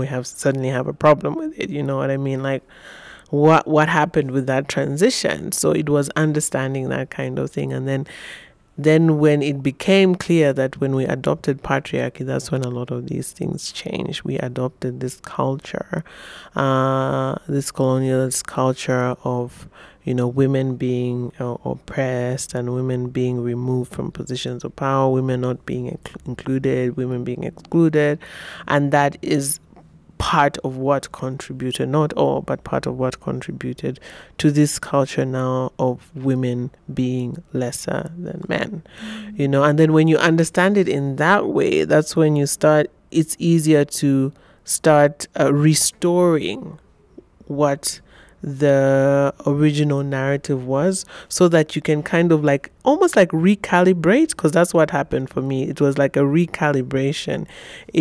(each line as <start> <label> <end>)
16.6 interview 46.8